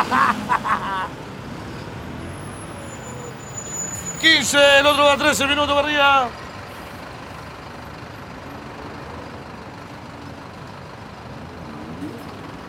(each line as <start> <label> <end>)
4.1 Sapo announcing the buses and the time between each one 6.4